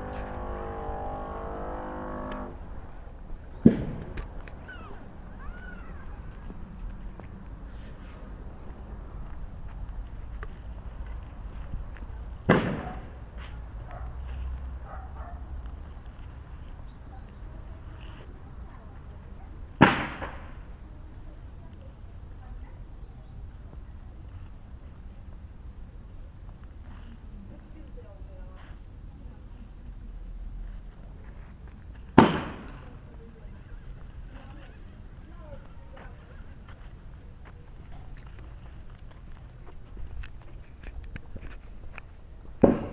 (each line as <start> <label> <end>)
0.0 renovation 5.0